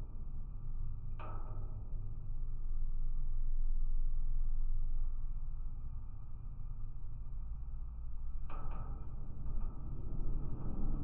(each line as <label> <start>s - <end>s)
strong wind outside 8.4s - 11.0s